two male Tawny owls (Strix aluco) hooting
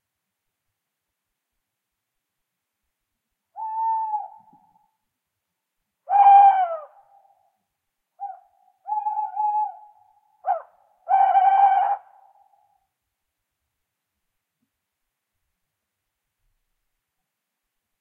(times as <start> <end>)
3.5 4.9, 6.0 7.4, 8.2 12.8